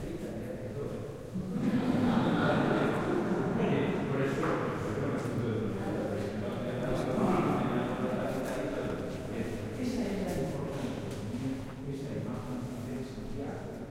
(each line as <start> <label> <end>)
1.4 soft laughs follow 4.3